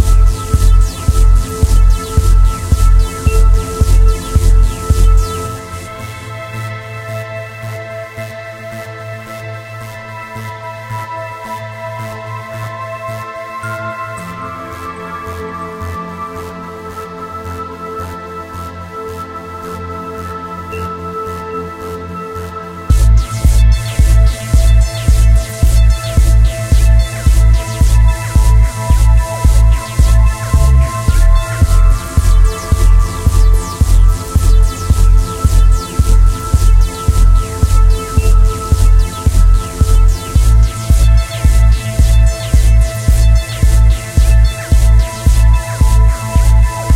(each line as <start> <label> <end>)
0.0 synth 46.9